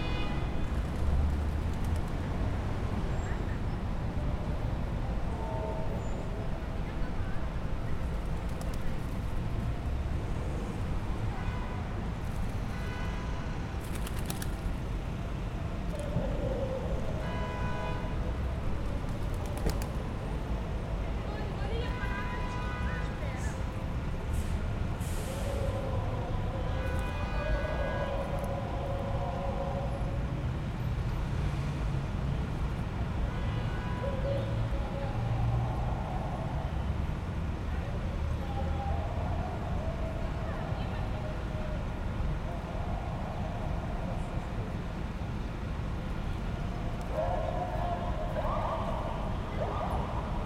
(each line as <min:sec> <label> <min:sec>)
0:00.0 Traffic 0:50.4
0:24.4 ambulance 0:30.9
0:33.3 ambulance 0:50.4